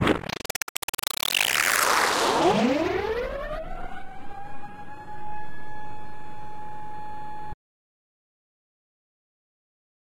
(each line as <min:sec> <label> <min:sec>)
0:00.0 Granular sounds 0:06.0